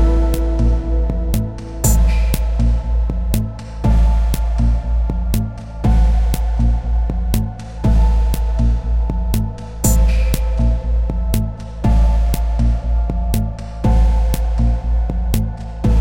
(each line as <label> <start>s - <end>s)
guitar 0.0s - 6.4s
drum 0.0s - 14.6s
bass 0.0s - 16.0s
drum 15.2s - 16.0s